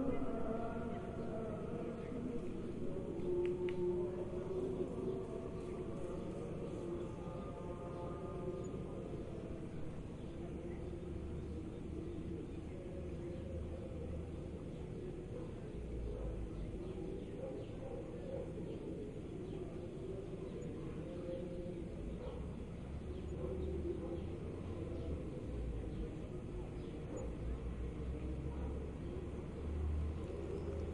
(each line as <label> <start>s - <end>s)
call to prayer 0.0s - 30.9s